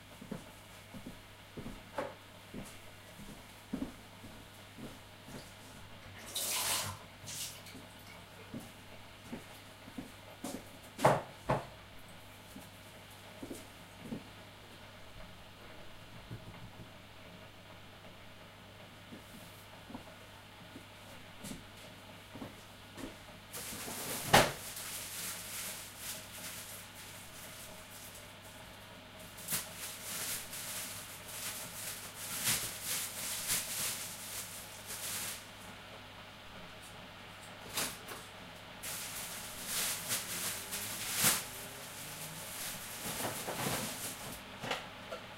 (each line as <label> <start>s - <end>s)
room tone 0.0s - 45.3s